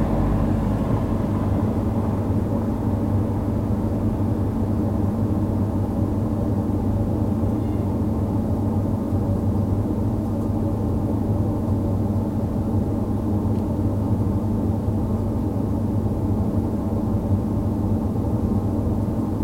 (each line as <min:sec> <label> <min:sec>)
0:00.0 car 0:04.6
0:00.0 air-conditioning 0:19.4